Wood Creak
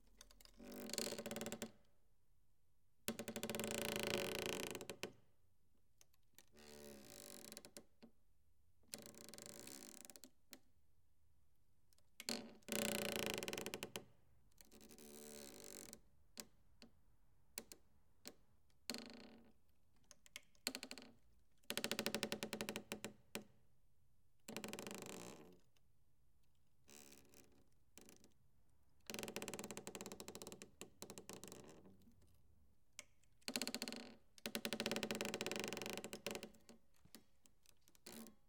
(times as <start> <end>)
0.5 1.8